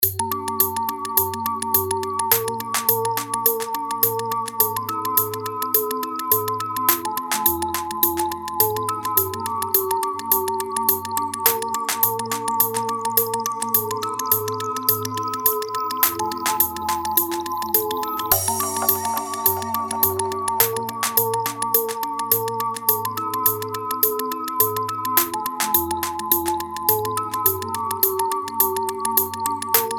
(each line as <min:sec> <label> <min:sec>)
0:06.9 Snare 0:08.0
0:06.9 Clap 0:08.0
0:20.6 Clap 0:22.0
0:20.6 Snare 0:22.0
0:25.2 Snare 0:26.5
0:25.2 Clap 0:26.4
0:29.8 Snare 0:29.9